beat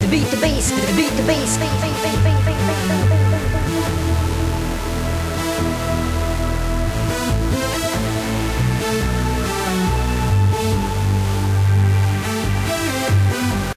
0.0s 4.6s

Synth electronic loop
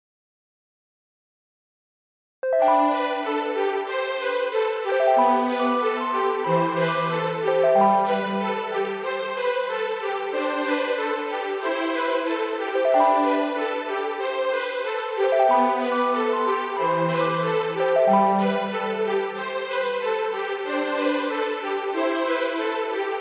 15.2s 19.3s

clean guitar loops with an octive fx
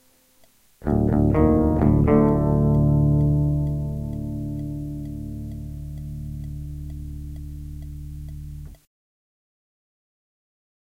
0.8s 8.8s

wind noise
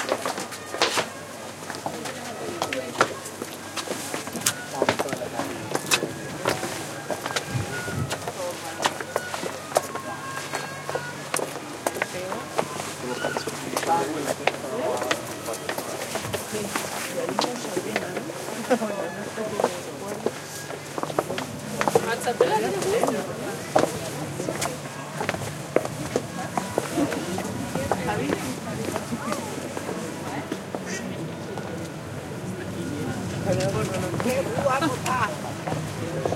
7.4s 8.2s

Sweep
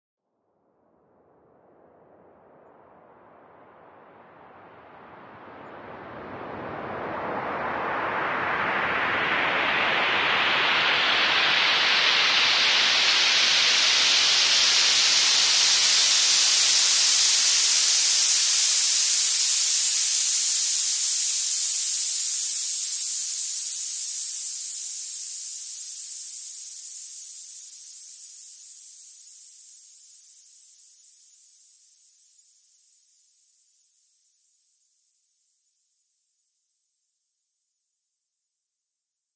1.8s 29.1s

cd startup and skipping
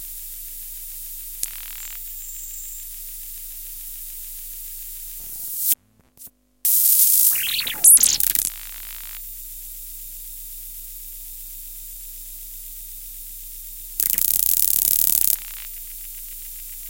6.9s 9.2s

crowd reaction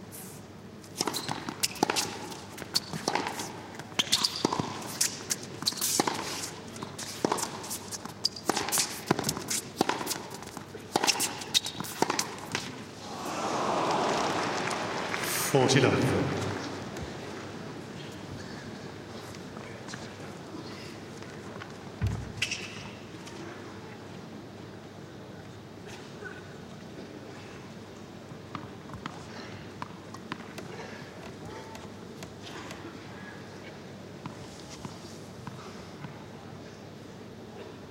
13.0s 17.3s

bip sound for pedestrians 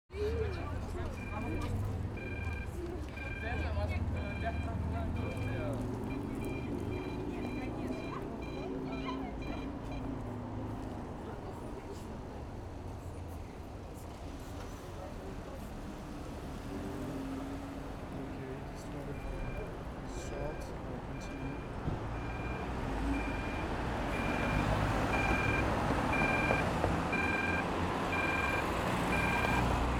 0.2s 10.3s

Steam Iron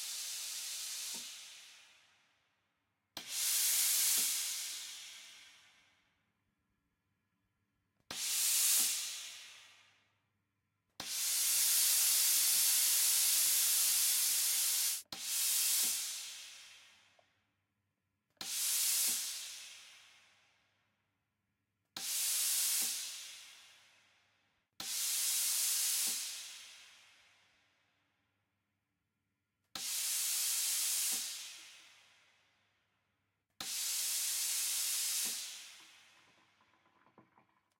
0.0s 2.0s, 3.2s 5.6s, 8.1s 9.8s, 11.0s 17.0s, 18.4s 20.1s, 22.0s 23.8s, 24.8s 27.2s, 29.8s 32.1s, 33.6s 36.5s

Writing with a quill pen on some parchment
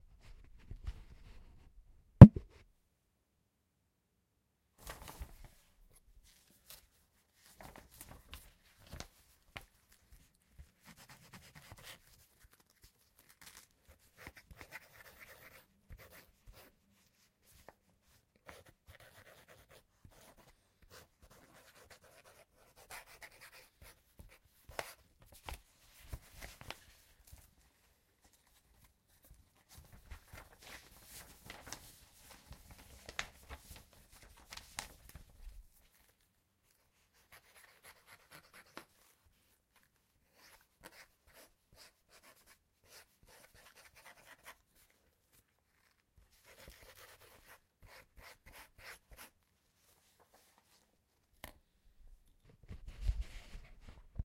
10.6s 25.0s, 36.7s 49.4s

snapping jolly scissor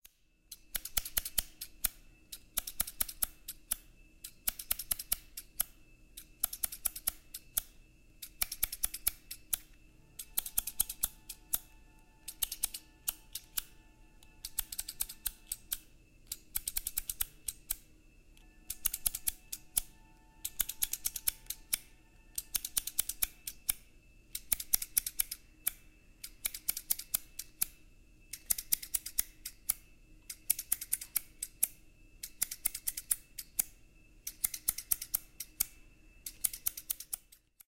18.4s 37.6s

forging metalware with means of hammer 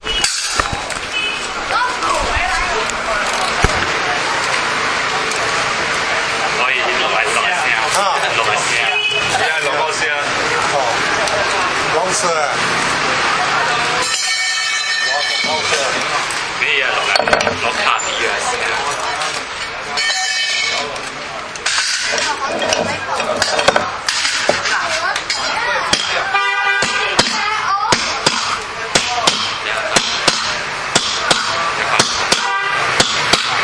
0.0s 0.9s, 21.6s 26.2s, 26.8s 33.6s

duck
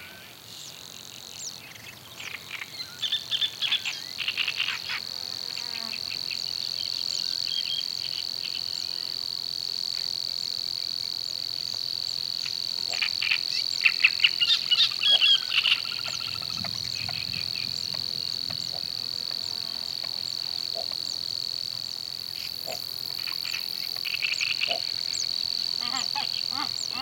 25.8s 27.0s

